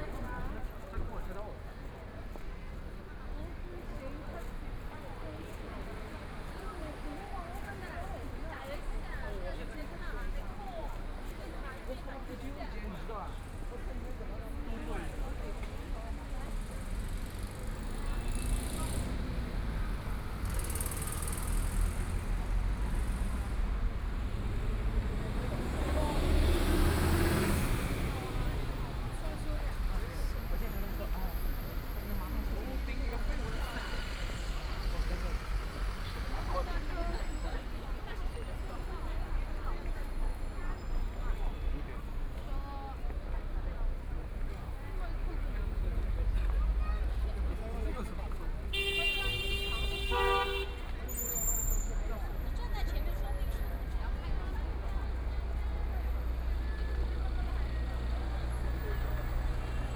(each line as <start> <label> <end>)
0.0 Traffic Sound 59.9
0.0 Walking in the street 59.9
0.0 moving pedestrians 59.9